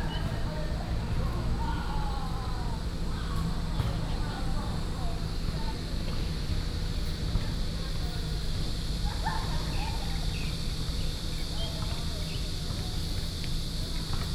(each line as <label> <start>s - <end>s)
Cicadas called 7.5s - 14.3s